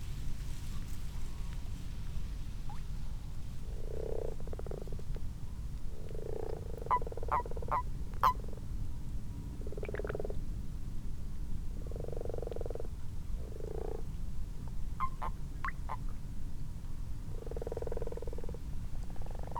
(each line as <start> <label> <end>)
1.1 common toads in a garden pond 19.5
2.7 common frogs 8.7
9.5 common frogs 10.6
11.7 common frogs 16.2
17.2 common frogs 19.5